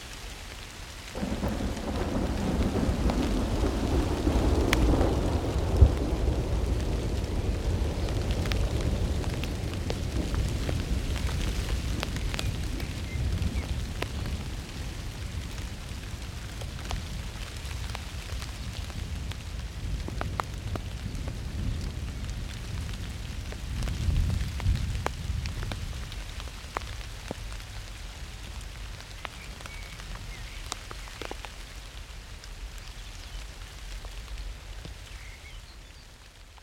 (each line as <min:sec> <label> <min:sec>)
0:00.0 crackly rain 0:36.6
0:01.2 Spatial thunder 0:11.2